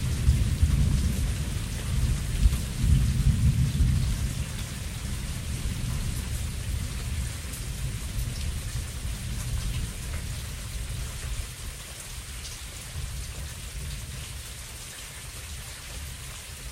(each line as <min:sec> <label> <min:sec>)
0:00.0 light thunder, often 0:11.7
0:00.0 rain 0:16.7